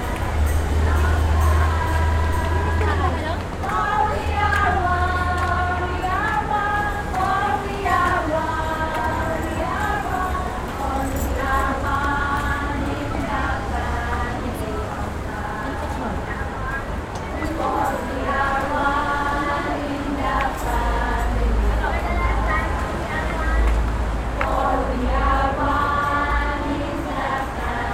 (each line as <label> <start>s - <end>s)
Sunday Song by Philippines servants 0.0s - 27.9s